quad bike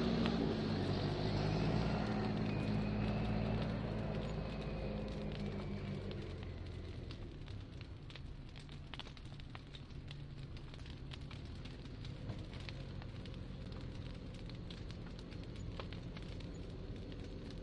0:00.0 0:08.2

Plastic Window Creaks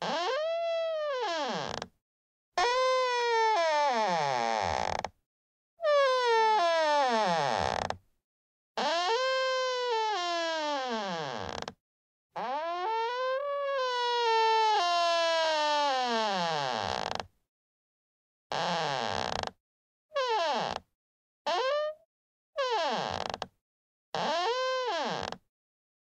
0:00.0 0:01.9, 0:02.8 0:05.1, 0:05.9 0:08.0, 0:08.8 0:11.8, 0:15.6 0:17.3, 0:18.6 0:19.5, 0:22.6 0:23.5, 0:24.2 0:25.4

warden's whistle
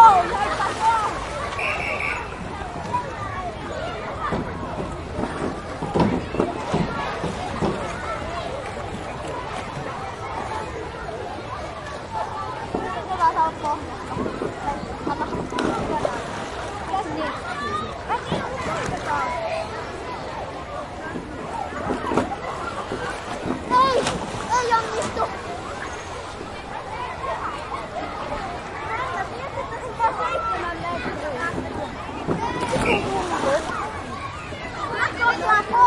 0:01.6 0:02.4

